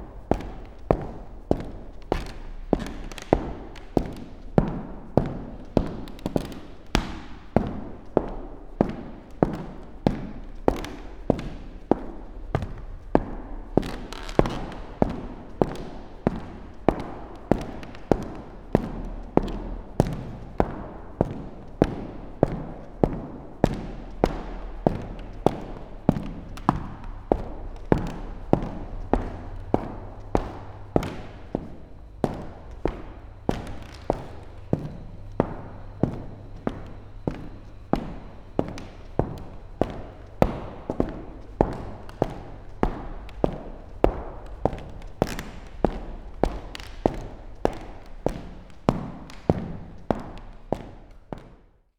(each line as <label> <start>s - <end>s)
walking with technological ears close to the old parquet floor 0.0s - 51.9s